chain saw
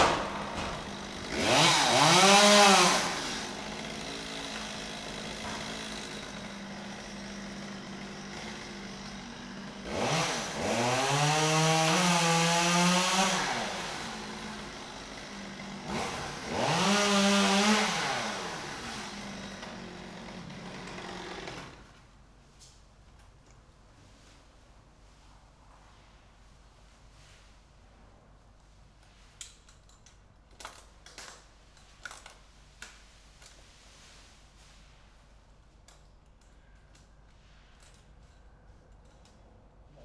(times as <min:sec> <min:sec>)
0:00.0 0:22.1